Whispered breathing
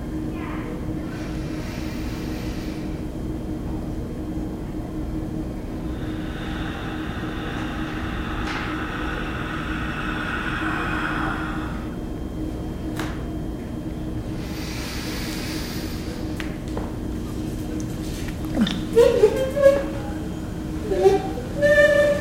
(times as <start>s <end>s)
1.0s 3.2s, 5.6s 12.4s, 14.2s 17.7s